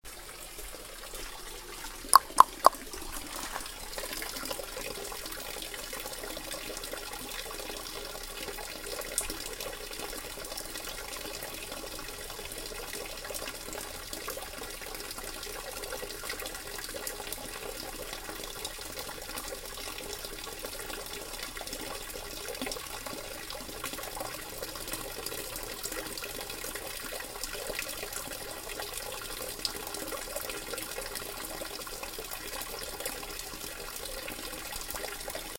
0.0s rain 35.5s
0.0s single stream water fountain 35.5s
2.2s dripping 4.8s

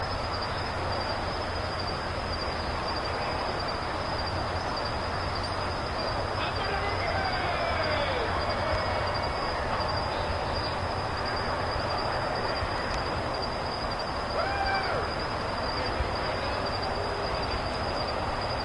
6.4s hooting and hollering 9.5s
14.3s hooting and hollering 15.8s

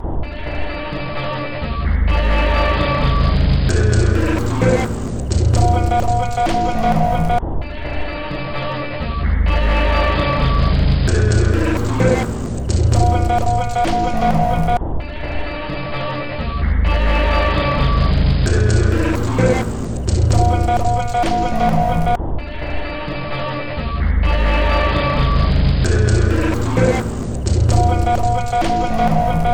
2.5s Drum Loop 7.4s
10.9s Drum Loop 14.8s
18.3s Drum Loop 22.2s
25.8s Drum Loop 29.5s

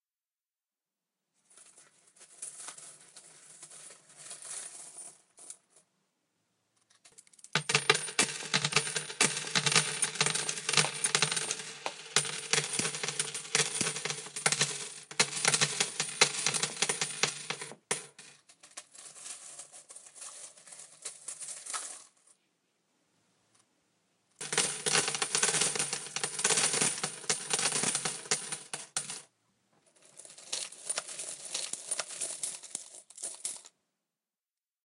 7.1s change dropping 18.8s
24.4s change dropping 29.2s

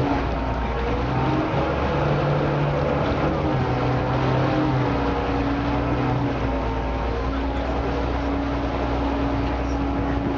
0.0s chatter of other passengers on the boat 10.3s
0.0s engine revving 10.3s
0.0s horns are blown by other vessels 10.3s
0.0s water 10.3s

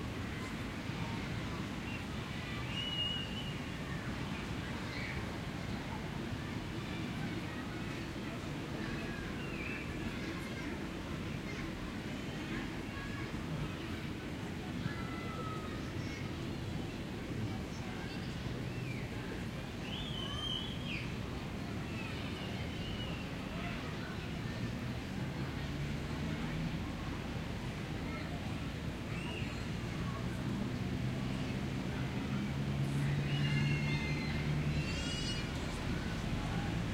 0.0s people passing-by 36.9s
0.1s children's voices 36.9s
29.0s cars 36.9s

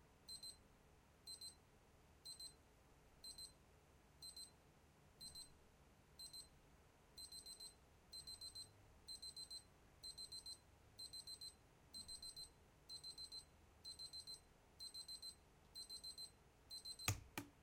0.3s digital alarm clock 0.6s
1.3s digital alarm clock 1.6s
2.3s digital alarm clock 2.6s
3.2s digital alarm clock 3.5s
4.2s digital alarm clock 4.5s
5.2s digital alarm clock 5.5s
6.2s digital alarm clock 6.5s
7.2s digital alarm clock 17.1s

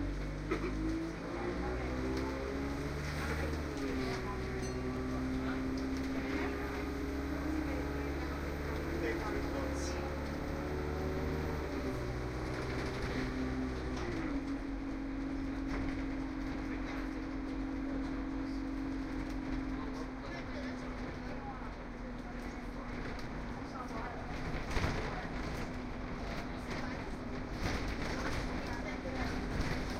0.0s bus 29.9s

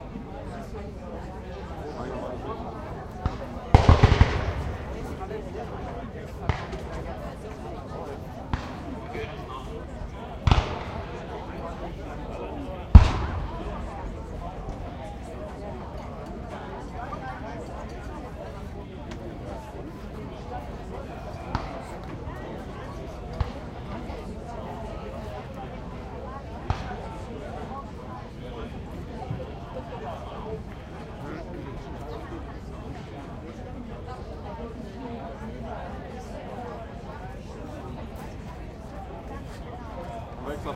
0.0s voices 40.7s
3.8s detonations 5.2s
12.9s detonations 14.1s

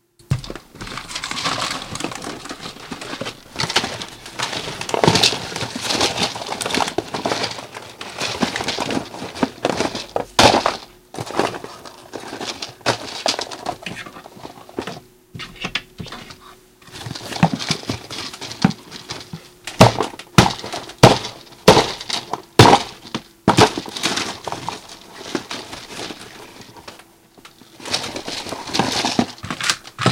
0.2s frantically searching for something in drawers and cupboard 30.1s

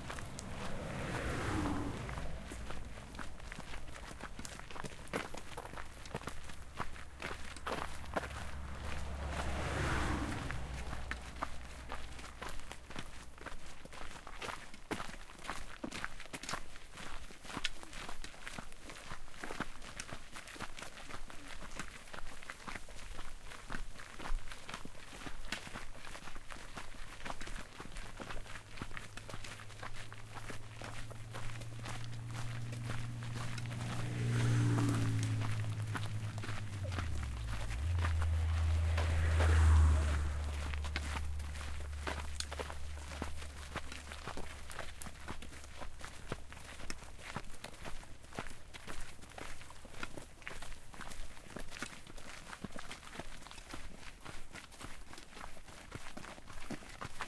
0.0s cars passing by 14.2s
0.0s footsteps 16.6s
24.6s cars passing by 54.4s
27.2s footsteps 57.2s

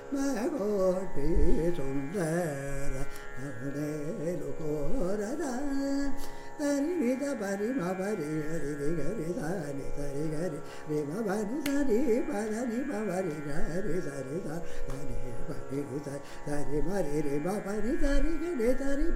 0.0s Carnatic varnam 19.1s

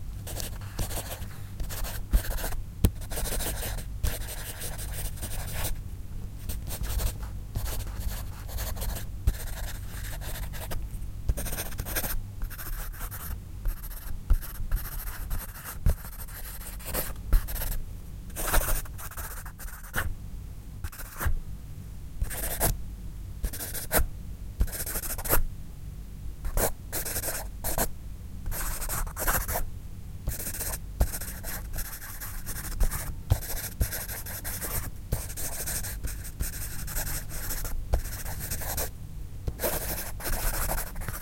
0.3s Pencil writing and scribbling on paper 5.7s
6.5s Pencil writing and scribbling on paper 17.8s
30.3s Pencil writing and scribbling on paper 38.9s
39.6s Pencil writing and scribbling on paper 41.2s

